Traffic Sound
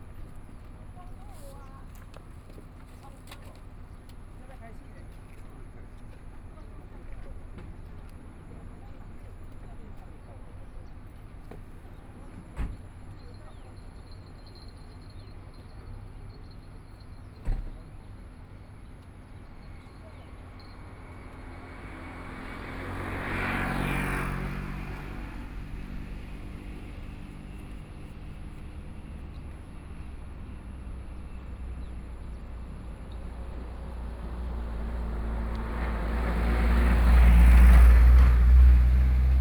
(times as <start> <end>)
18.9 39.4